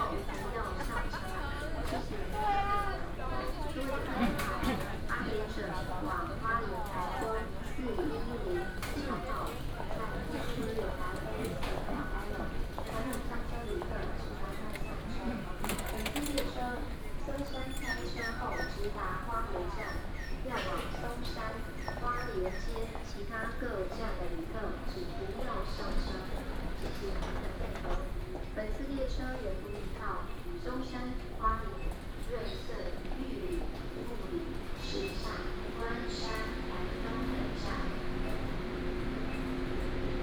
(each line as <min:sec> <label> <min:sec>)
0:00.0 walking in the station 0:40.2
0:33.0 The train travels 0:40.2